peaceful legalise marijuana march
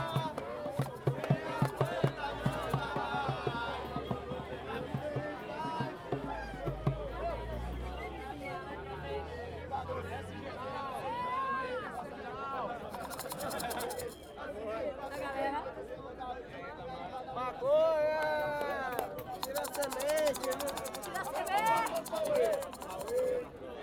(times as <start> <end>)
0.0 8.4, 19.0 23.8